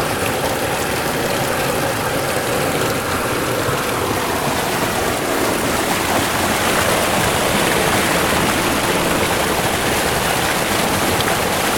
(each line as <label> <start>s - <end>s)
River 0.0s - 11.7s